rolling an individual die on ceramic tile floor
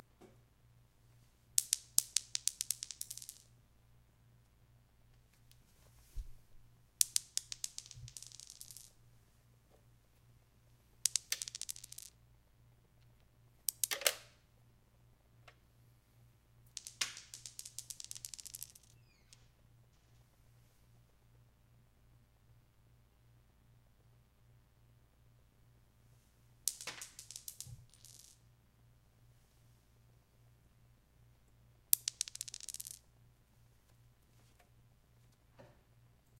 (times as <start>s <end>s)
1.6s 3.6s, 5.2s 9.0s, 11.0s 12.2s, 16.7s 20.3s, 26.6s 28.5s, 31.9s 33.1s